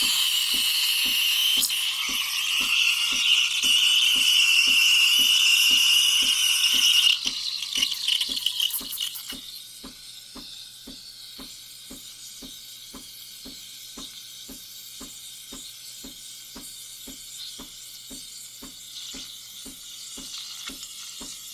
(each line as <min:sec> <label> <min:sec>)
0:00.0 steaming milk on the espresso machine 0:21.5